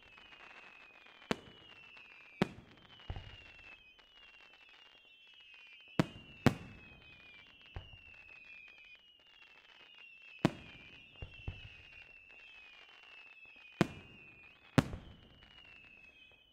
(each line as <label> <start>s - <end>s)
Fireworks 0.0s - 16.5s